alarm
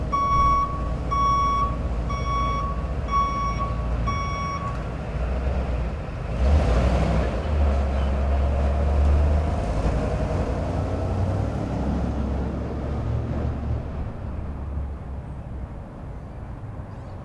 0.2s 4.7s

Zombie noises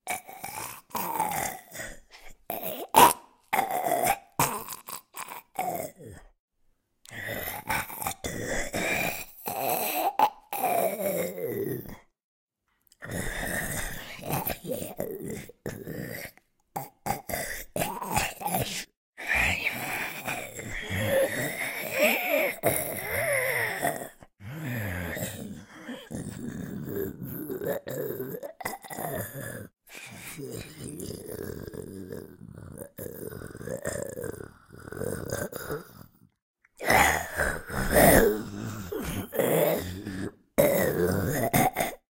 36.8s 42.0s

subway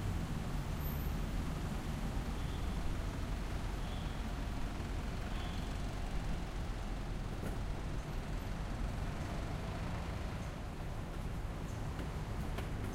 5.3s 8.6s

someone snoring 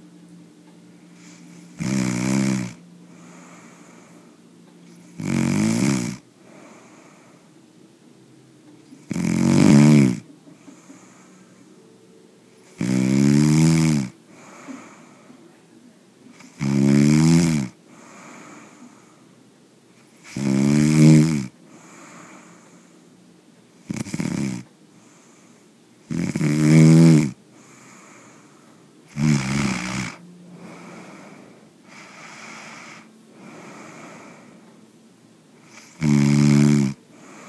1.1s 4.3s, 4.9s 7.5s, 8.9s 11.6s, 12.6s 15.3s, 16.3s 19.2s, 20.0s 23.0s, 23.8s 28.5s, 29.1s 34.7s, 35.6s 37.4s

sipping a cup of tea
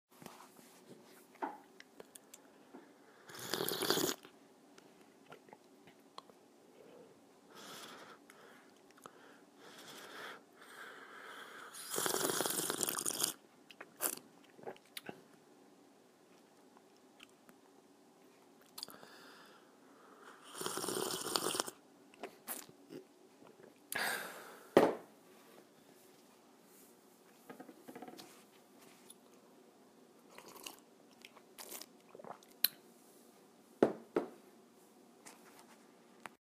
3.3s 4.3s, 20.5s 23.1s, 30.3s 32.8s

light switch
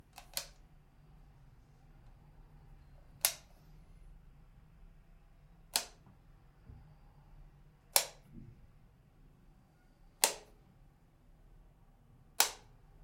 0.1s 0.6s, 3.2s 3.5s, 5.7s 6.0s, 7.9s 8.3s, 10.2s 10.6s, 12.4s 12.8s

